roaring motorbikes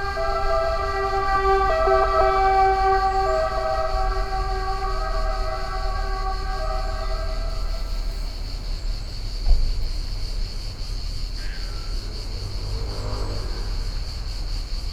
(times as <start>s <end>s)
0.0s 8.4s, 12.0s 14.9s